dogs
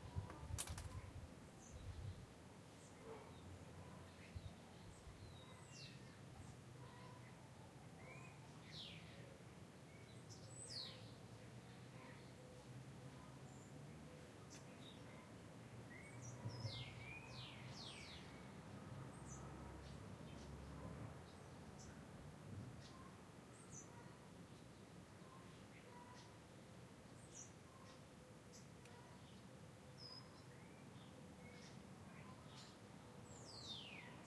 3.0s 4.2s

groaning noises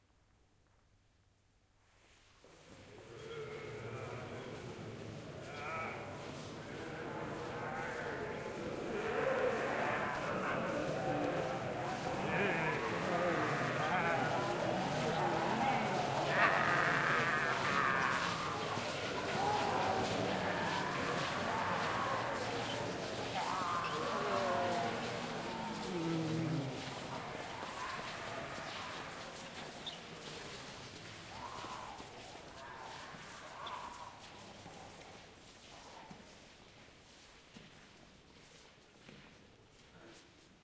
2.9s 29.7s

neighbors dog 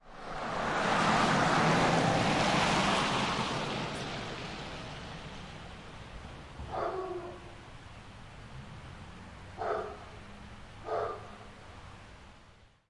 6.6s 7.6s, 9.6s 10.2s, 10.8s 11.5s

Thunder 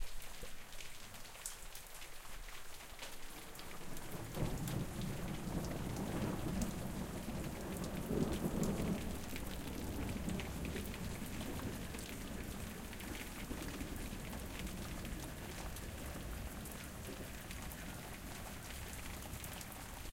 4.2s 17.8s

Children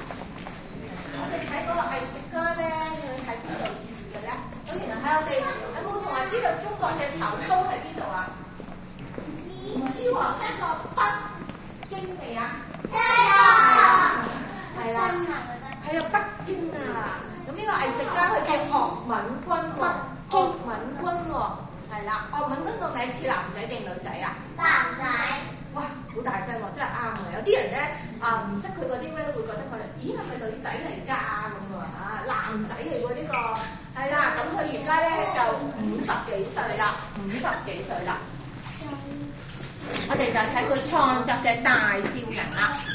4.5s 7.8s, 9.1s 21.3s, 24.4s 26.1s, 38.0s 41.4s

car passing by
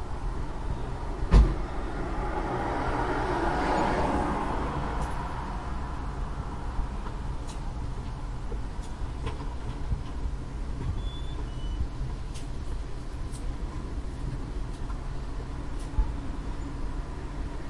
1.0s 6.8s

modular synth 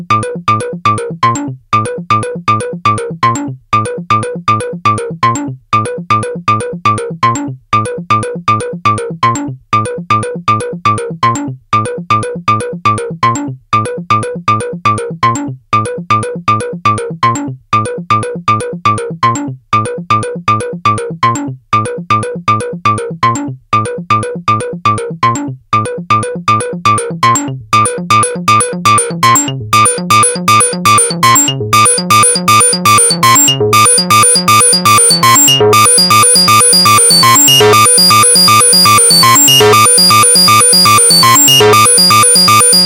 27.8s 42.8s

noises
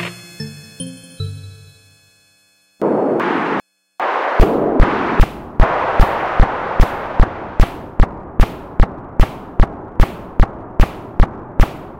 2.8s 11.9s

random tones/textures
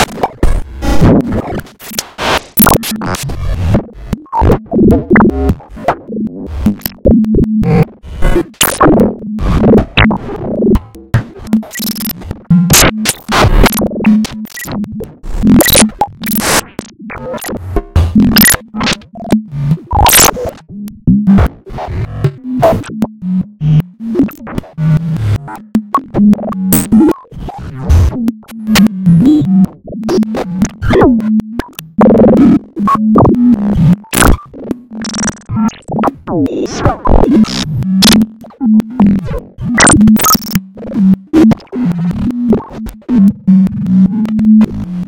2.6s 2.9s, 11.6s 12.2s, 12.8s 14.8s, 15.4s 17.6s, 18.2s 18.9s, 20.0s 20.4s, 34.1s 38.2s, 39.8s 40.6s

